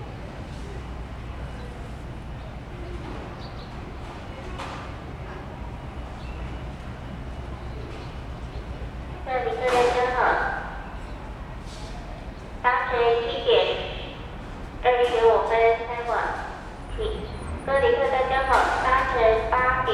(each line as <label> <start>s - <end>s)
Station broadcast messages 9.2s - 10.8s
Station broadcast messages 12.6s - 19.9s